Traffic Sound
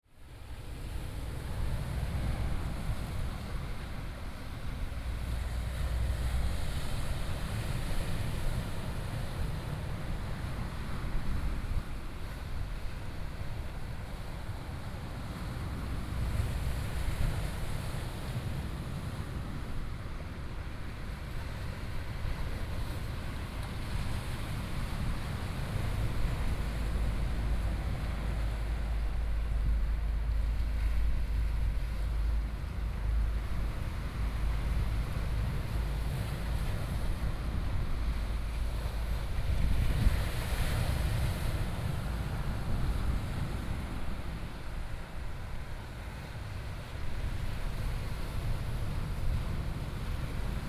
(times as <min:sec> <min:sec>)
0:26.0 0:39.3